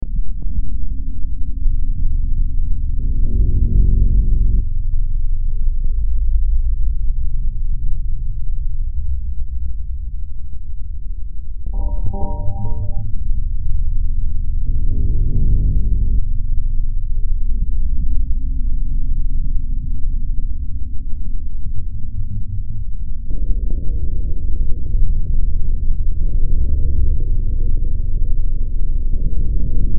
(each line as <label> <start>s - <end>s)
Drone 11.6s - 22.0s